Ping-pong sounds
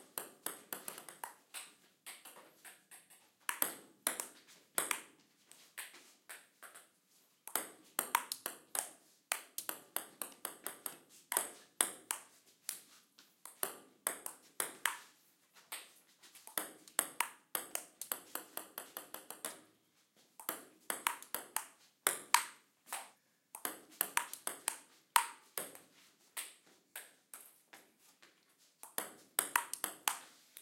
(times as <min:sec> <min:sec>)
0:00.2 0:05.1, 0:07.5 0:12.3, 0:13.5 0:15.1, 0:16.5 0:19.7, 0:20.4 0:27.5, 0:28.8 0:30.2